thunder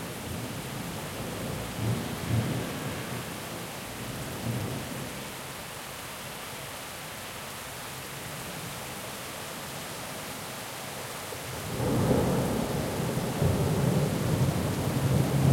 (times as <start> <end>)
1.5 3.4, 11.7 15.5